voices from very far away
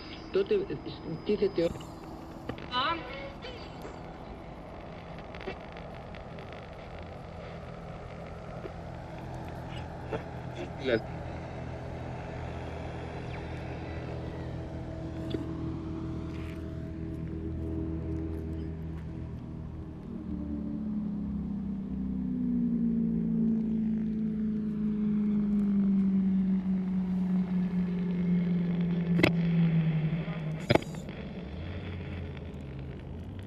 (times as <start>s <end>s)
0.0s 16.9s